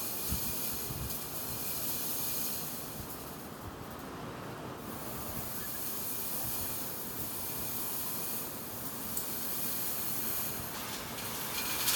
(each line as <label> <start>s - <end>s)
fence ripples and rattles along its posts 4.9s - 11.9s